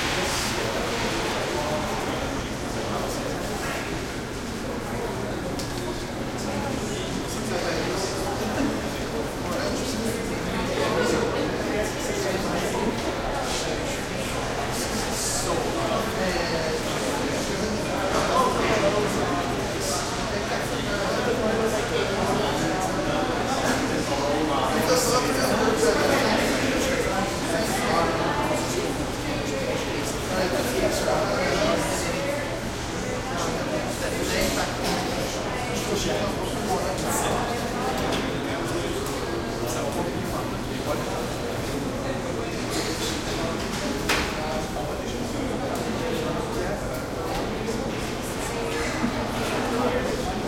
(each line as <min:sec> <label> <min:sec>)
0:00.0 crowd int small echo hallway 0:50.4